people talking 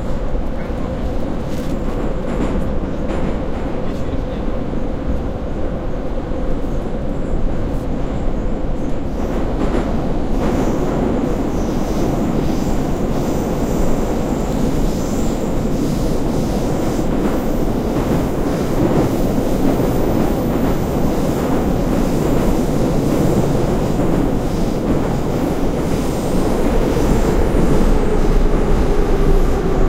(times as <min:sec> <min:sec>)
0:03.8 0:04.6